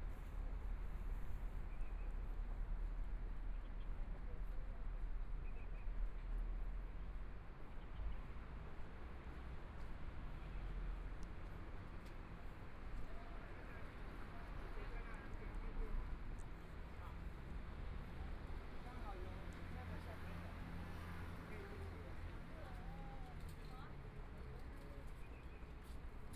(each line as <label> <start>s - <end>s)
walking in the Street 0.0s - 26.3s